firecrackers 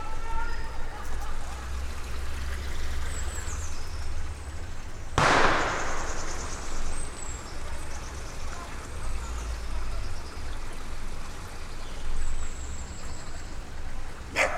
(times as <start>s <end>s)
5.2s 9.2s